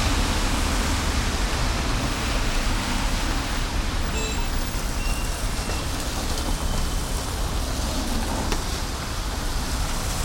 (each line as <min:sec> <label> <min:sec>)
0:00.0 rain 0:10.2
0:00.0 traffic 0:10.2